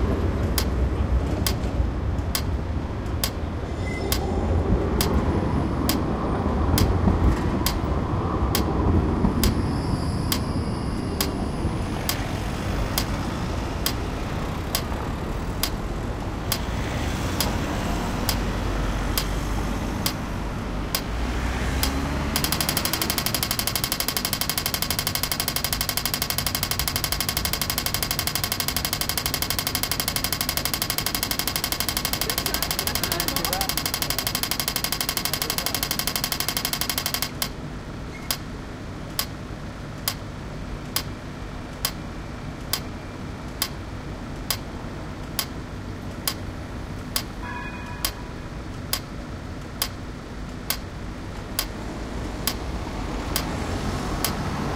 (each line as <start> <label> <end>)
0.0 Pedestrian Crossing Lights Sound 54.7